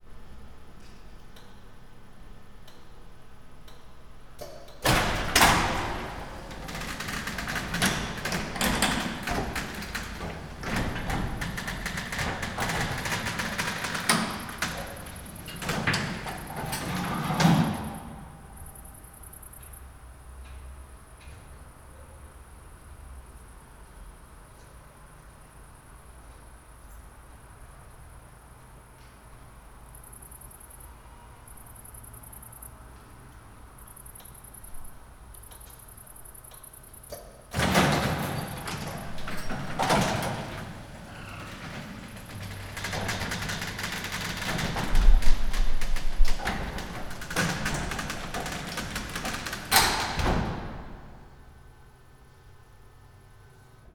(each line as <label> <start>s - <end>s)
garage door 3.6s - 19.8s
garage door 33.7s - 52.1s